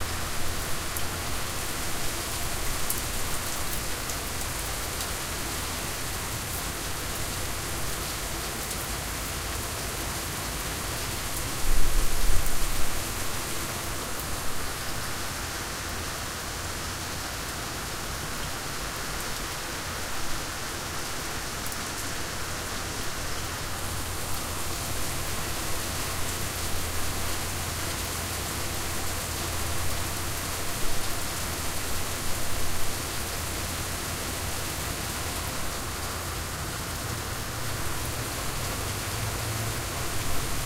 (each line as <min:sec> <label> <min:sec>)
0:00.0 Heavy rain 0:40.6